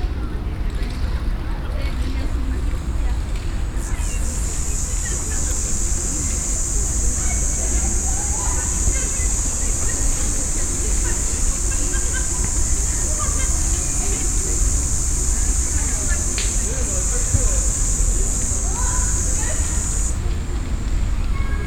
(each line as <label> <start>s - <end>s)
Children playing 0.0s - 21.6s
insects 2.4s - 21.6s